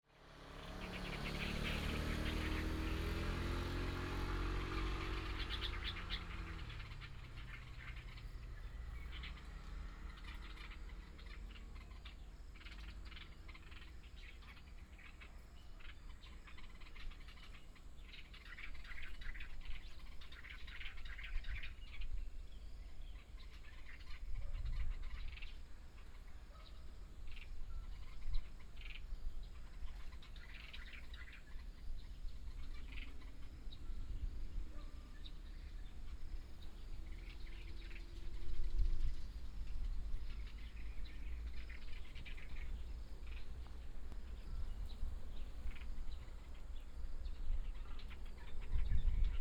Traffic sound 0.1 - 22.4
Traffic sound 23.1 - 49.4
Dog barking 34.7 - 35.1

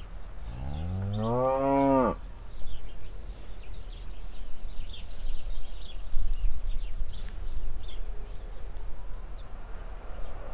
bush full of sparrows 0.0 - 10.5

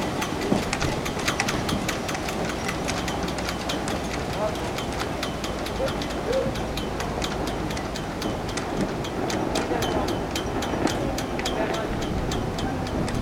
strong wind blows in the boat matts 0.0 - 5.5
sails make caracteristic noises 0.0 - 13.2
strong wind blows in the boat matts 7.2 - 13.2

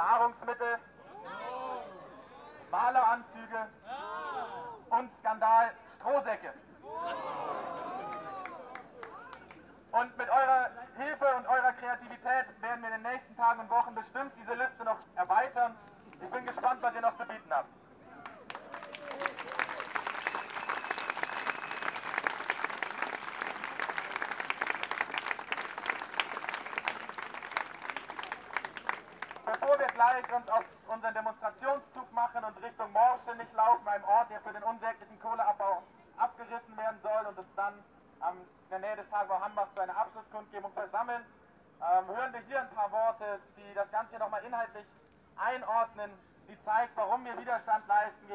speaker announces some requirements and program details 9.9 - 17.8
speaker announces some requirements and program details 29.4 - 48.3

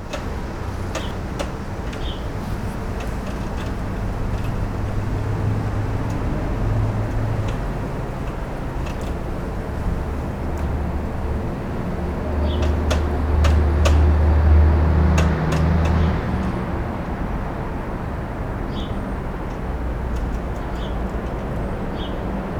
tapping its beak on a metal encasing 0.0 - 10.0
tapping its beak on a metal encasing 12.2 - 16.6

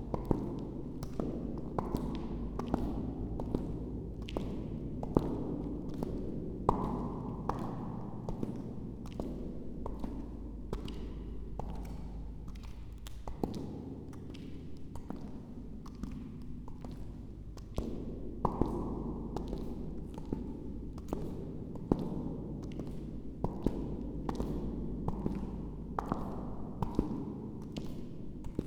walking echo, louder and later quieter 0.0 - 28.6

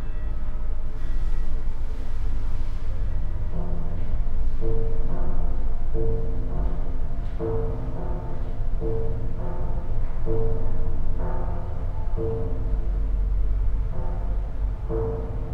church bells 0.0 - 1.4

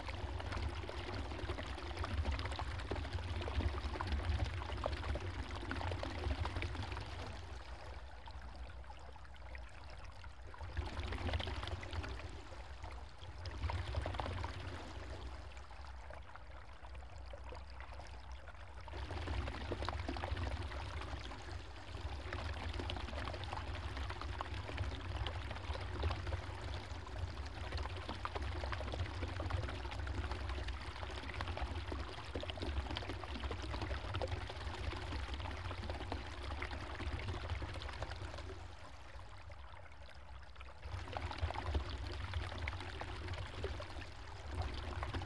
water running down through a pipe 0.0 - 45.2

